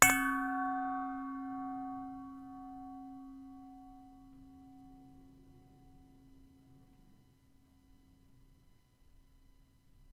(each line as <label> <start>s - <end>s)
hit a bowl 0.0s - 7.2s